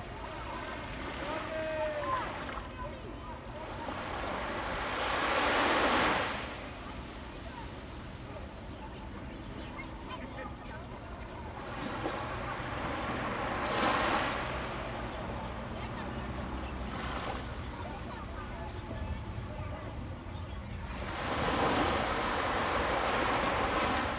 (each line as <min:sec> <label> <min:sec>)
0:00.0 waves 0:24.1